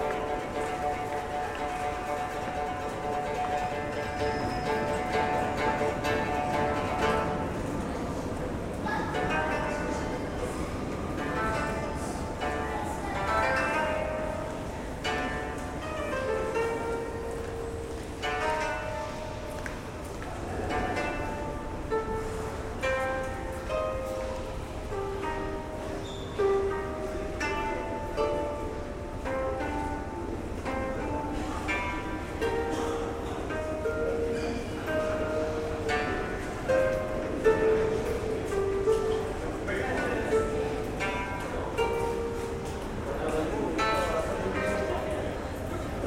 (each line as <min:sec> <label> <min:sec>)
0:00.0 koto player 0:46.0
0:00.0 surrounding casual sounds 0:46.0